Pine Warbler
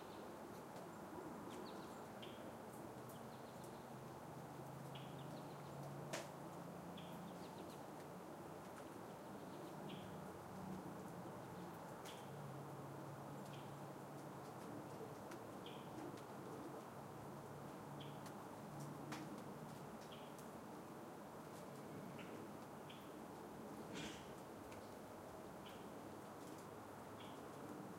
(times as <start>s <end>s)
4.8s 5.8s, 23.9s 24.4s, 27.1s 27.5s